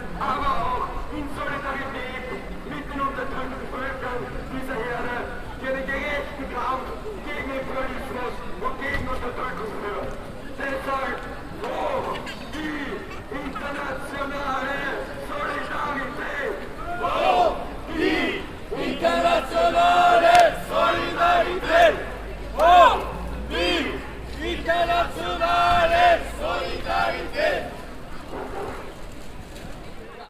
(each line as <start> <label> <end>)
0.0 solidaritäts kundgebung 29.0